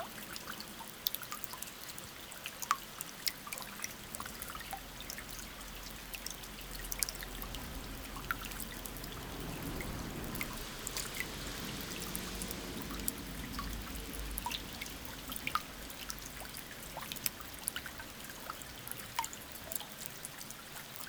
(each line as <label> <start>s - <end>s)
river flows very quietly 0.0s - 21.0s
end of a long sad rain 5.7s - 18.1s